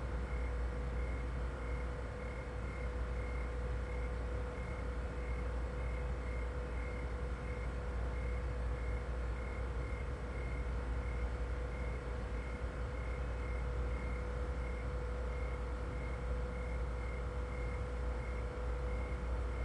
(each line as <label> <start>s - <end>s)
Noisy refrigerator 0.0s - 19.6s
sound machine playing crickets 0.0s - 19.6s